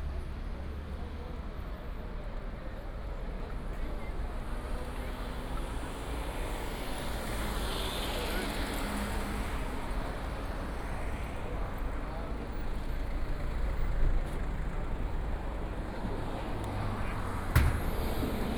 Walking on the streets 0:00.0 - 0:18.5
Traffic Sound 0:04.7 - 0:18.5

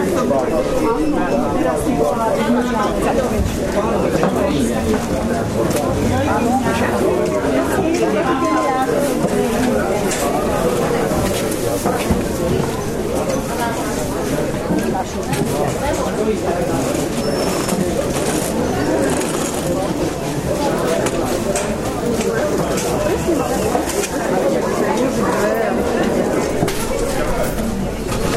market atmosphere VIII 0:00.0 - 0:28.3

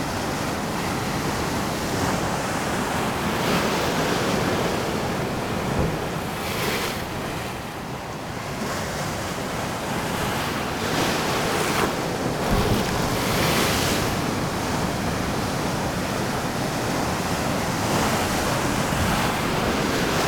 water crashing into rocks 0:12.2 - 0:15.5

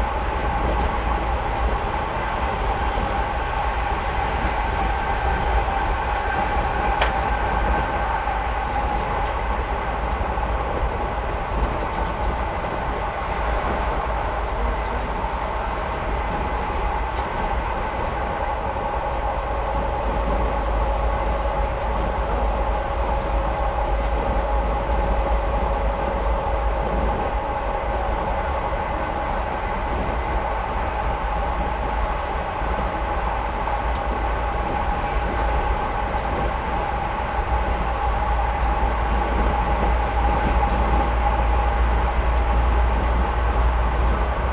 Train interieur with open window 0:00.0 - 0:44.5

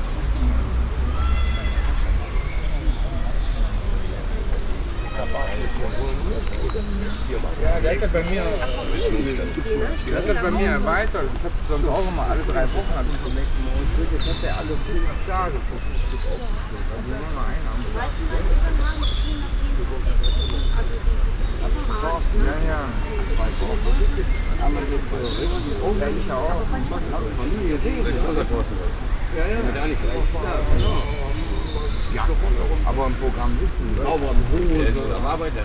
conversations of people 0:00.0 - 0:35.6

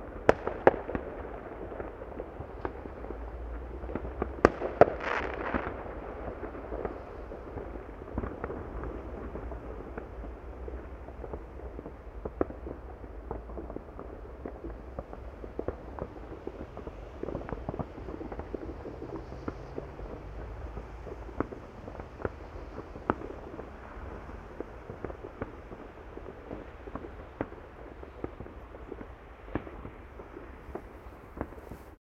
fireworks 0:00.0 - 0:32.0

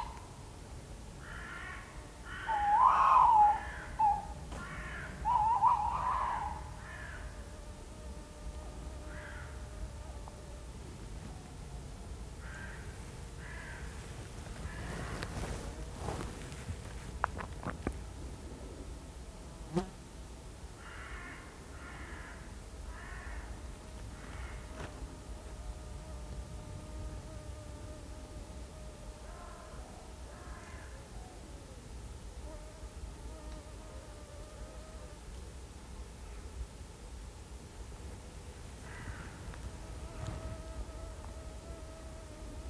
crows crow in the tree tops 0:00.0 - 0:00.4
crows crow in the tree tops 0:01.2 - 0:07.6
Tawny owl 0:01.2 - 0:07.4
crows crow in the tree tops 0:09.0 - 0:09.8
crows crow in the tree tops 0:12.4 - 0:16.2
Walking back 0:14.1 - 0:18.0
crows crow in the tree tops 0:20.8 - 0:25.0
crows crow in the tree tops 0:29.2 - 0:31.1
crows crow in the tree tops 0:38.8 - 0:40.4

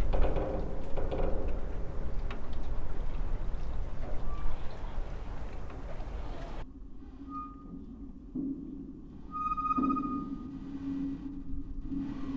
wind 0:00.0 - 0:12.3

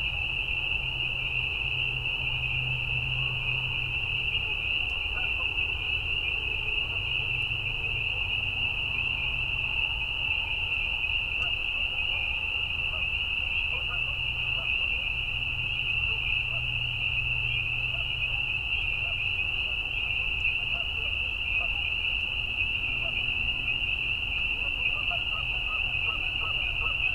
Canada Geese 0:04.4 - 0:05.8
Canada Geese 0:11.3 - 0:27.1

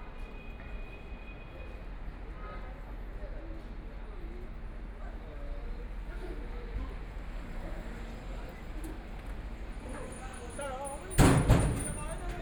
walking in the Street 0:00.1 - 0:12.4

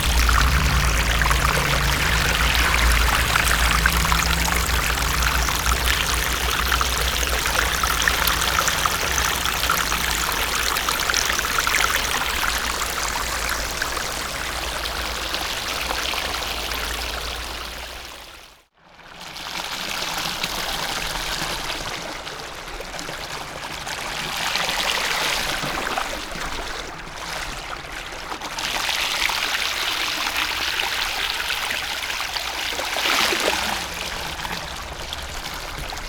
Stream water sound 0:00.0 - 0:18.6
Stream water sound 0:30.9 - 0:36.0

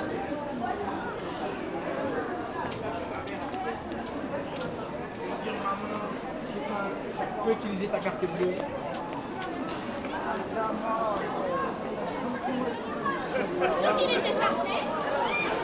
students 0:08.1 - 0:15.6

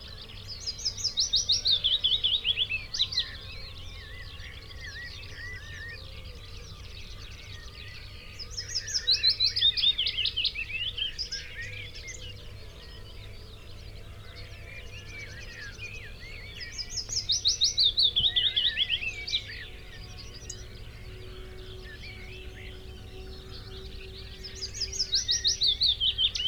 willow warbler song 0:00.0 - 0:26.4
song thrush 0:06.6 - 0:26.4

